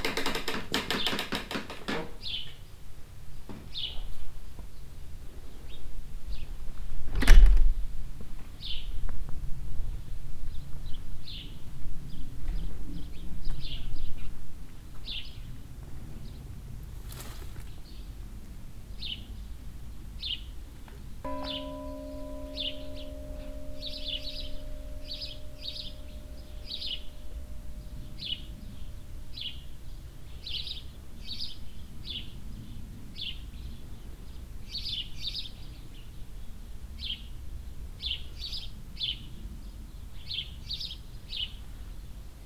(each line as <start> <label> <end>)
0.0 Opening and closing the old church door 2.4
0.0 chirping of the overall present birds 6.6
7.1 Opening and closing the old church door 7.7
15.0 chirping of the overall present birds 18.2
19.0 chirping of the overall present birds 42.3
21.3 Opening and closing the old church door 27.0
21.3 playing an old bell 31.0